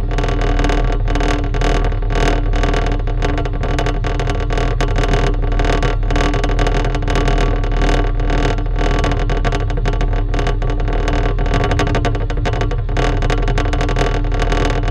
vibrating plate of an air circulation unit 0:00.0 - 0:14.9

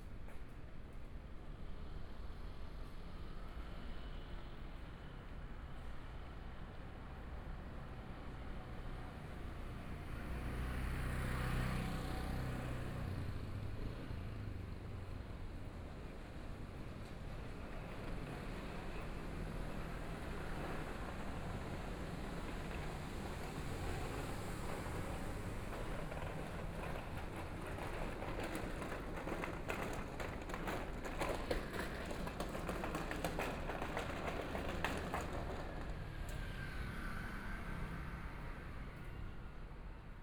Traffic Sound 0:08.2 - 0:40.2
walking on the small Road 0:08.5 - 0:37.1

